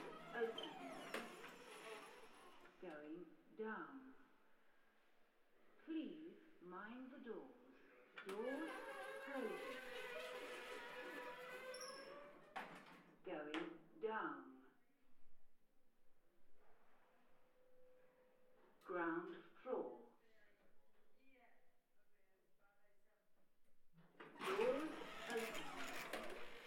coming down in the lift 0:00.0 - 0:02.8
coming down in the lift 0:08.3 - 0:12.8
coming down in the lift 0:24.4 - 0:26.6

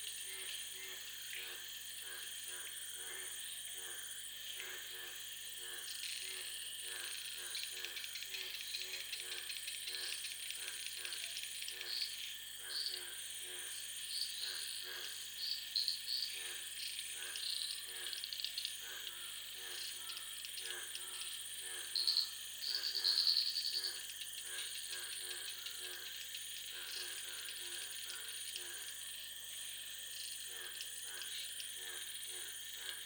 Hum in sound comes from high tension cables 0:00.0 - 0:33.0

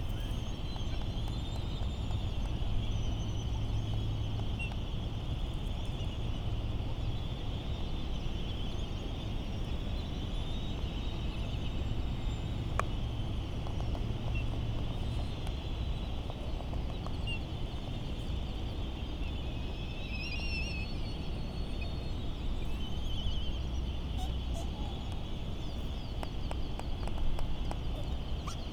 island traffic noise 0:20.7 - 0:28.7

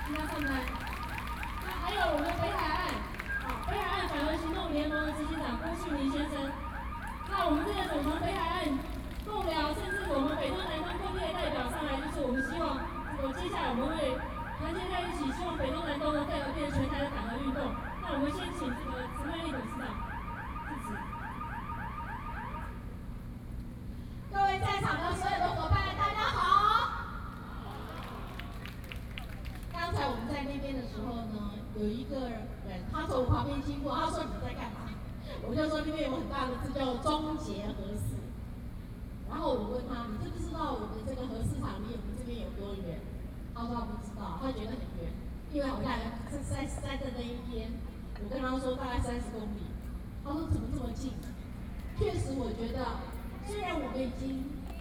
protesters 0:00.0 - 0:21.9
Speech 0:52.0 - 0:54.8

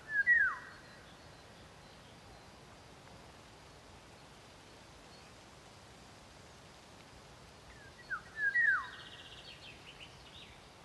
chaffinch sings in the distance 0:00.0 - 0:02.6
chaffinch sings in the distance 0:07.7 - 0:10.8

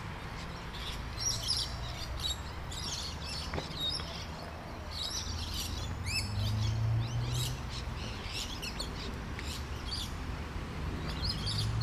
cars in nearby street 0:00.0 - 0:11.8
bird calls 0:00.3 - 0:10.2

